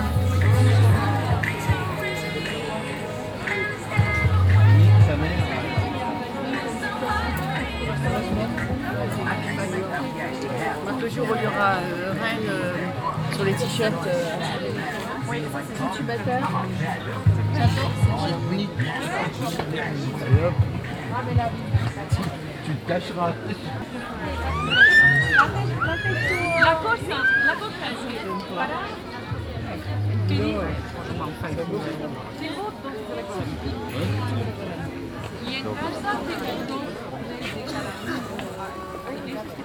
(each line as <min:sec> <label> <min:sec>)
0:00.0 dense crowded market atmosphere 0:39.6